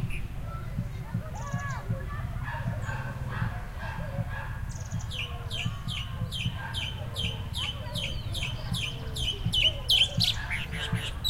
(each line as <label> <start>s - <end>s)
wind 0.0s - 11.2s
bird 4.7s - 11.2s